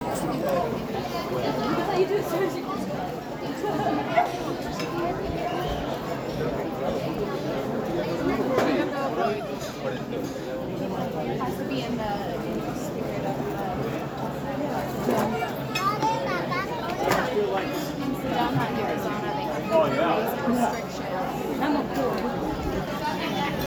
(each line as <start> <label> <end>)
0.0 People dining and talking 23.6